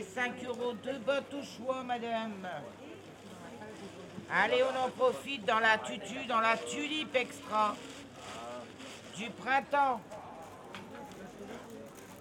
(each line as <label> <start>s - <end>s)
marchands de fleurs 0.0s - 12.2s